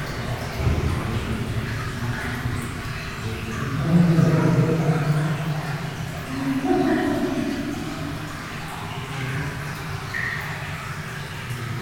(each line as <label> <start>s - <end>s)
Water is falling in the tunnel 0.0s - 11.8s